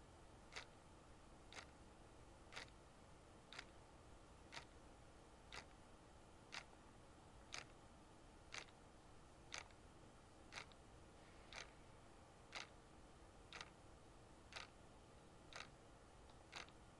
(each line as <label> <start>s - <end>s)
Clock Ticking 0.5s - 0.8s
Clock Ticking 1.5s - 1.8s
Clock Ticking 2.5s - 2.8s
Clock Ticking 3.5s - 3.8s
Clock Ticking 4.5s - 4.7s
Clock Ticking 5.5s - 5.7s
Clock Ticking 6.5s - 6.7s
Clock Ticking 7.5s - 7.8s
Clock Ticking 8.5s - 8.8s
Clock Ticking 9.5s - 9.8s
Clock Ticking 10.5s - 10.8s
Clock Ticking 11.5s - 11.7s
Clock Ticking 12.5s - 12.8s
Clock Ticking 13.5s - 13.8s
Clock Ticking 14.5s - 14.8s
Clock Ticking 15.5s - 16.8s